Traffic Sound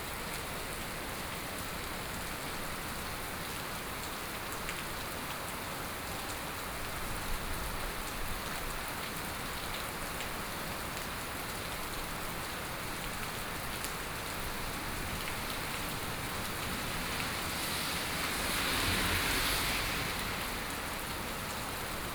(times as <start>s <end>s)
14.0s 22.1s